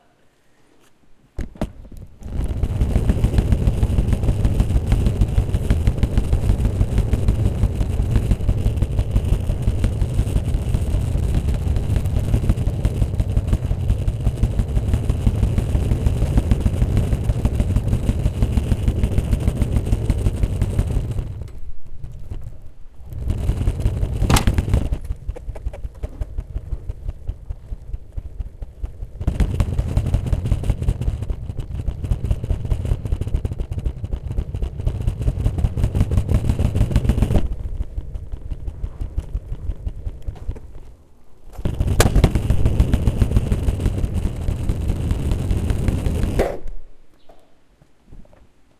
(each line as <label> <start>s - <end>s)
Suitcase rolling on concrete 1.2s - 46.4s